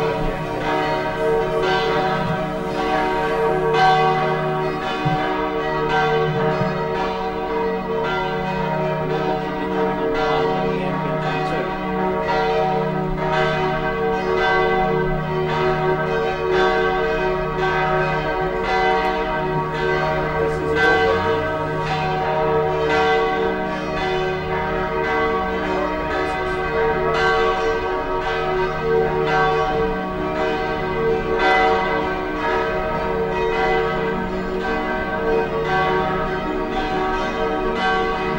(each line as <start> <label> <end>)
0.0 church bells 38.3
19.6 voices 21.7